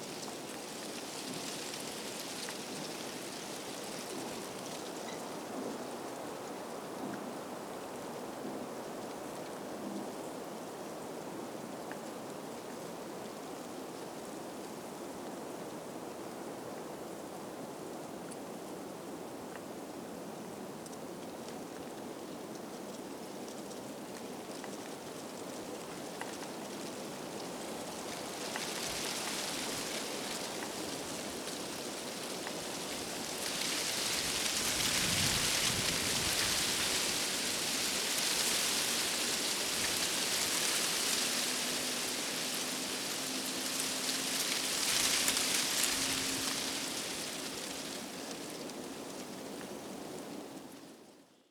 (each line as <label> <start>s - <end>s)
murmuring withered leaves 24.5s - 50.1s